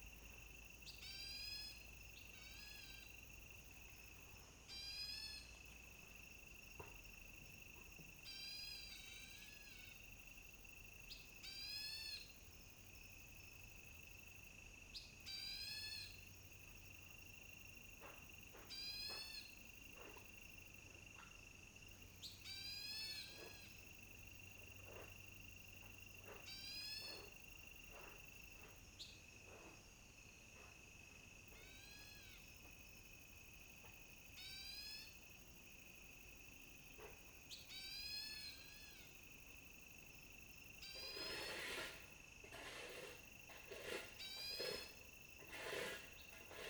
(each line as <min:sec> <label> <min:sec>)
0:42.6 Birds called 0:46.6